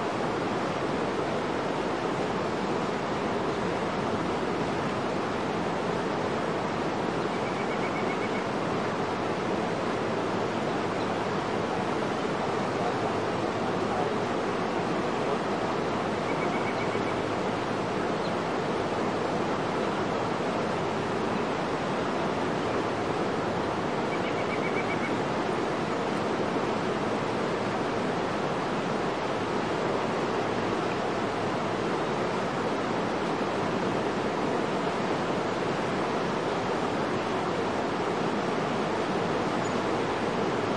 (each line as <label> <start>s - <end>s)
roaring waterfall 0.0s - 40.7s
birds chirping in the background 15.7s - 18.7s
birds chirping in the background 22.6s - 26.2s
birds chirping in the background 39.0s - 40.7s